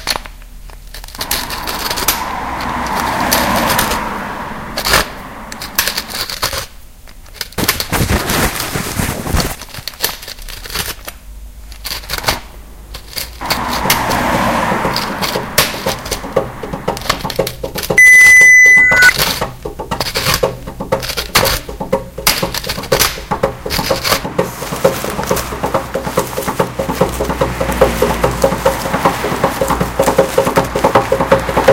rings 17.1 - 19.2

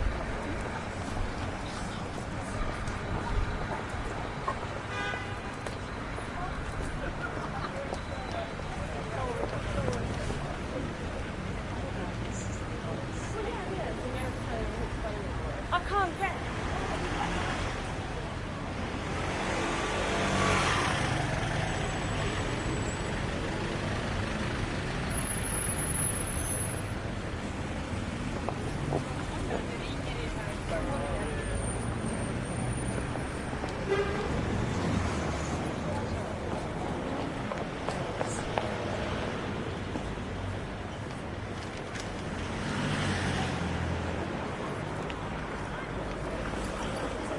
Bus 0.0 - 47.3
Cars 0.0 - 47.3
Voices 0.0 - 47.3

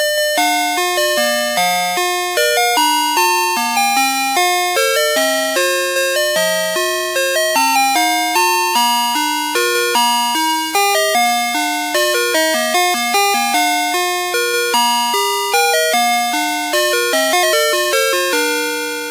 Brahms Lullaby Digital II Chime Song 4 0.0 - 19.1

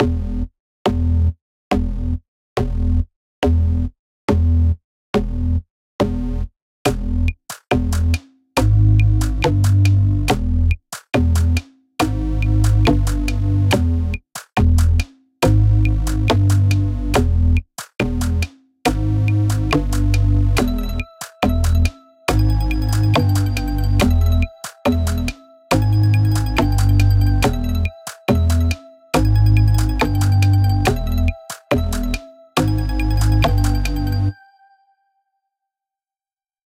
percussion 6.9 - 34.4

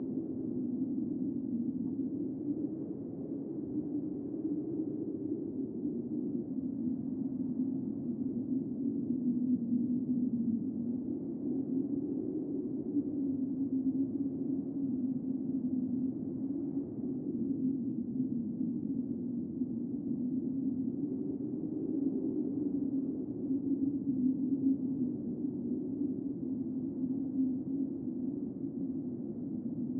Howling Wind 0.0 - 29.9

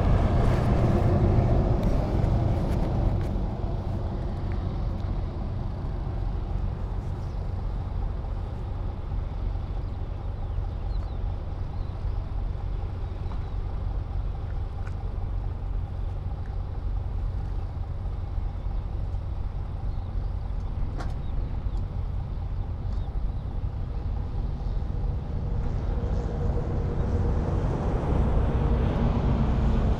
highway 0.0 - 29.9
trucks on the left or behind the recorder 0.0 - 29.9

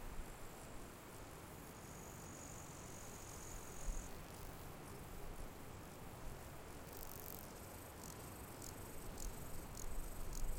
grasshoppers 0.2 - 10.5

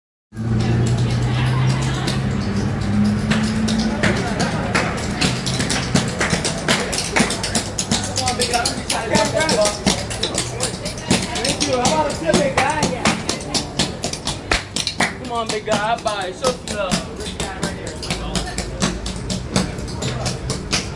Tap dancers on the sidewalk 0.4 - 20.9

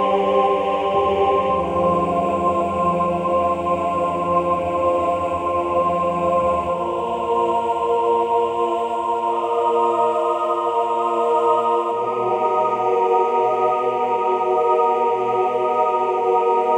choir 0.0 - 16.7

